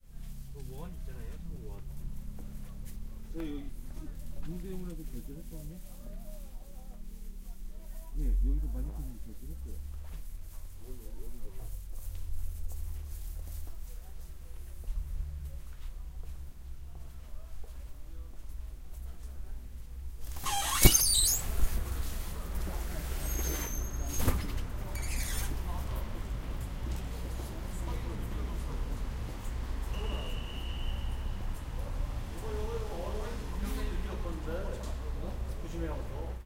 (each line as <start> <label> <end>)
0.5 People talking Korean 9.9
20.2 Door opening 21.7
31.8 People talking Korean 36.4